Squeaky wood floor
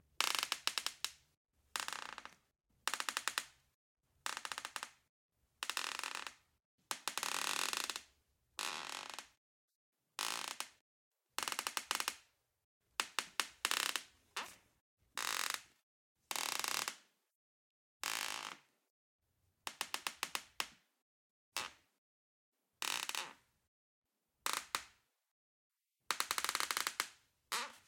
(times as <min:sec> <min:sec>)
0:27.5 0:27.8